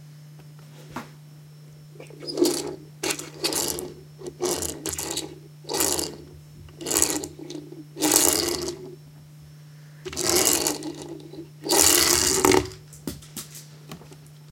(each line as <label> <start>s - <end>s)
plastic toy car being rolled around the table 2.0s - 9.0s
plastic toy car being rolled around the table 10.1s - 12.8s